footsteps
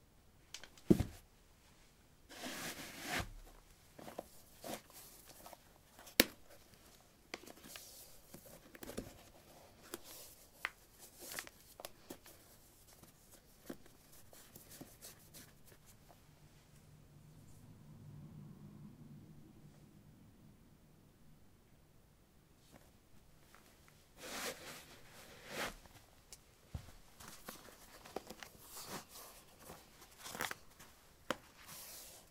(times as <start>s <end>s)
26.7s 27.5s